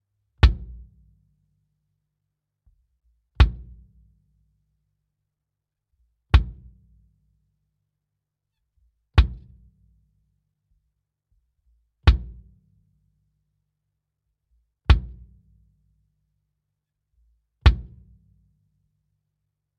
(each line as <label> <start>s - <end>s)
Kick / bass drum hit 0.4s - 0.9s
Kick / bass drum hit 3.4s - 3.9s
Kick / bass drum hit 6.3s - 6.8s
Kick / bass drum hit 9.2s - 9.6s
Kick / bass drum hit 12.0s - 12.5s
Kick / bass drum hit 14.9s - 15.3s
Kick / bass drum hit 17.6s - 18.1s